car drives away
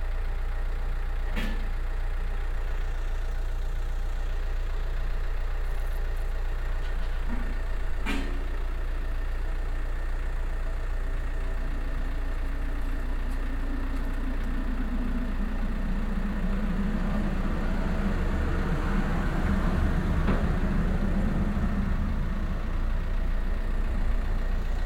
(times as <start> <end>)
9.4 24.8